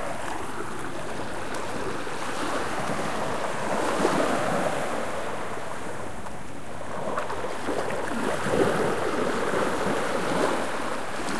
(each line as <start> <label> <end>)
0.0 sea 11.3